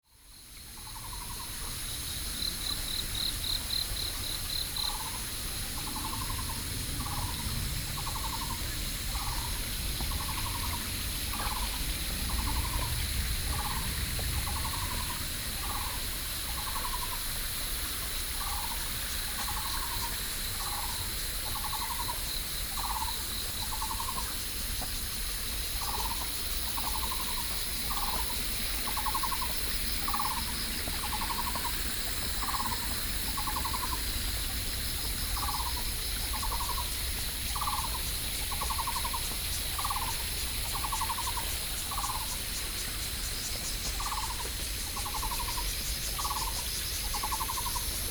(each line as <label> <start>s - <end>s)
Cicadas 0.0s - 48.1s
Stream 0.1s - 48.1s
Frogs calling 18.4s - 48.1s